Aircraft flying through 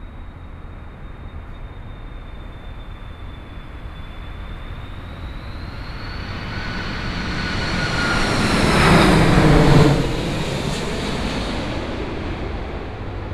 3.0s 13.3s

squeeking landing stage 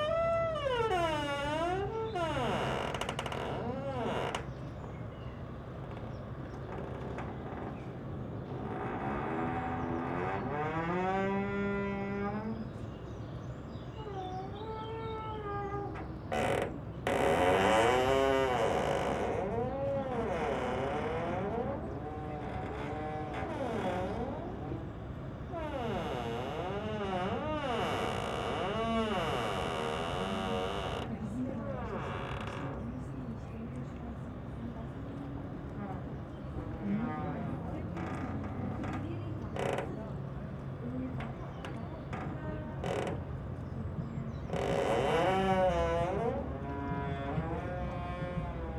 13.9s 31.2s, 44.4s 48.7s

